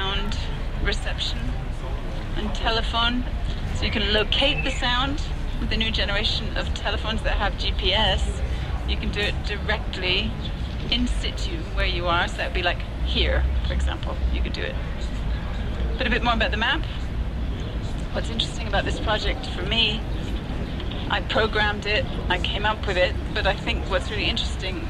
0.0s talks 24.8s

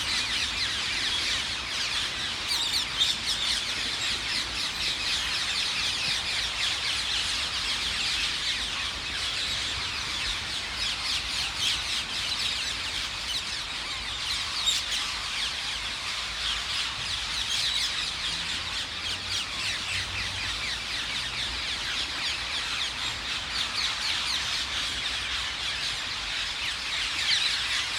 0.0s Ring-necked Parakeet Roost 5.6s

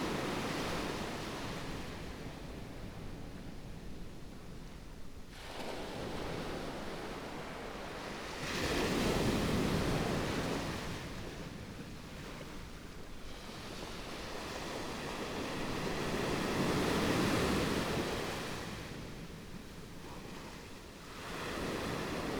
5.3s waves 22.3s

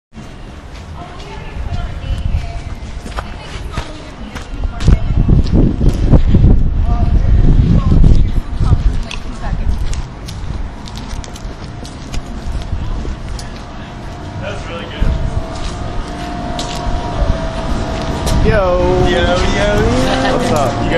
0.2s people talking on street 20.9s

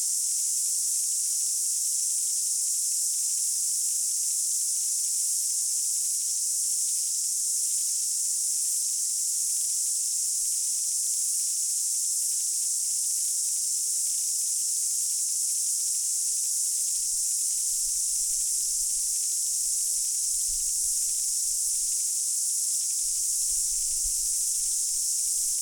0.0s Cicadas 25.6s

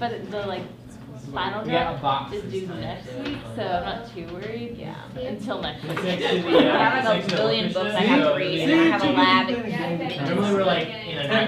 0.0s students chatting 11.4s

